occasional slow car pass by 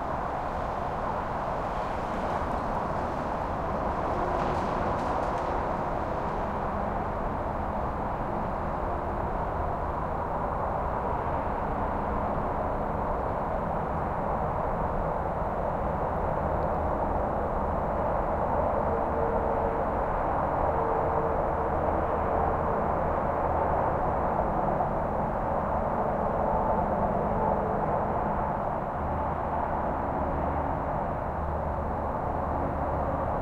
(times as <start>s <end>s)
0.0s 10.2s